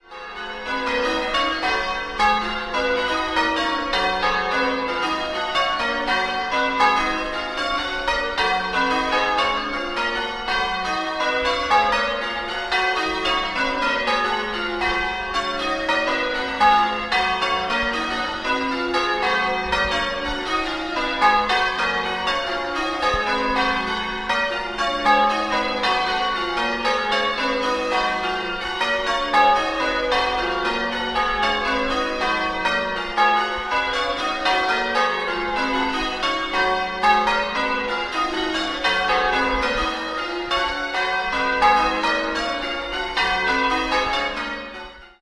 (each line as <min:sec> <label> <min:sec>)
0:00.0 church bells ringing 0:45.2